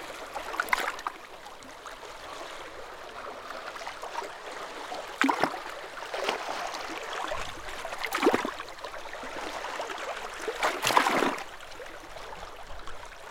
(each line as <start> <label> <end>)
4.1 Sea lapping against rocks on coastline 11.9